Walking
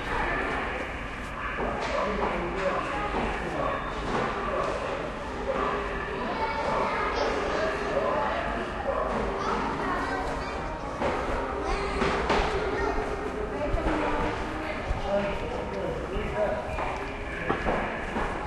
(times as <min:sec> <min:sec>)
0:00.0 0:04.8, 0:09.9 0:18.4